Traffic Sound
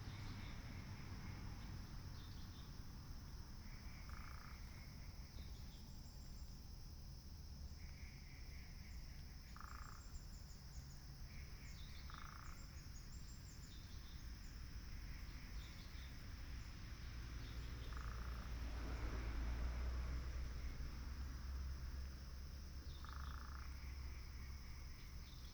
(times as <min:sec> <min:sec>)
0:00.0 0:05.8, 0:14.0 0:25.4